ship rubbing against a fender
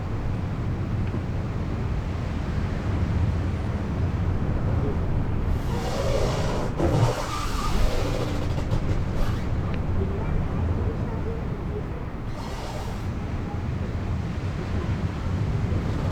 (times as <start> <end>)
5.4 10.1, 12.0 16.1